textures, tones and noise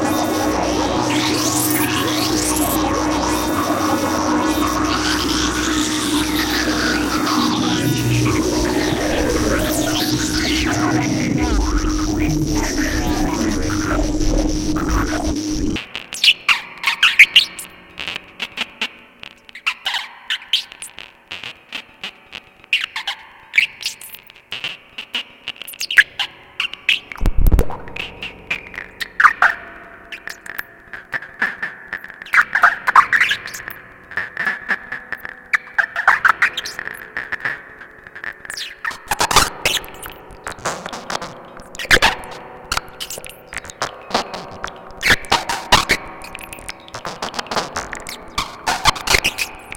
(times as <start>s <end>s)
0.0s 15.8s, 27.2s 28.3s